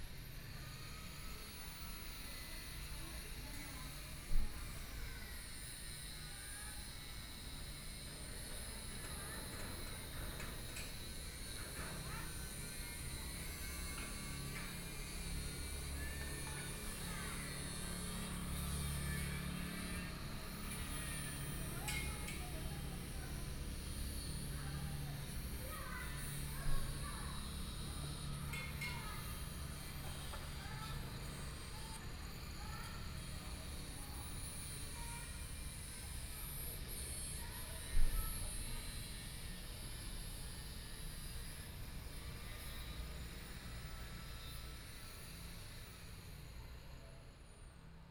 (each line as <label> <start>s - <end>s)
Homes under construction 0.0s - 48.1s
train traveling through 8.4s - 36.0s